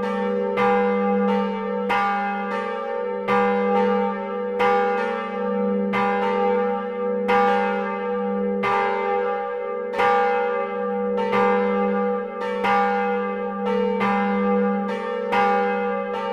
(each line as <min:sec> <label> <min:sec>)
0:00.0 two bells of the church 0:16.3